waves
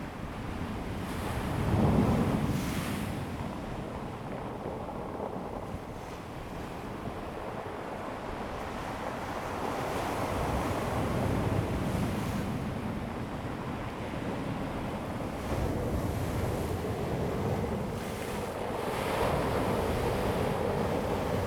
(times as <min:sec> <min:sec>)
0:05.8 0:21.4